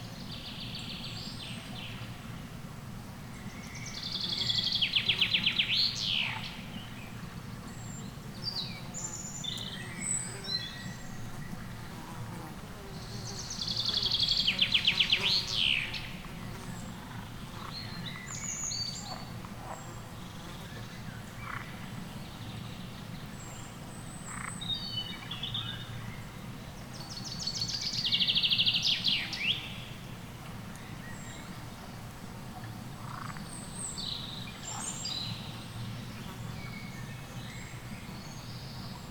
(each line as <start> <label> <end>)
21.4 frogs 21.8
24.3 frogs 24.6
33.0 frogs 33.5